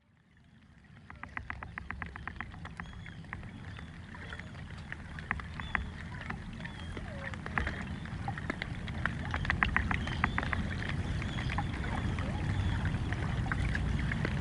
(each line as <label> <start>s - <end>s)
Birds 0.5s - 14.4s
Propellers 0.8s - 14.4s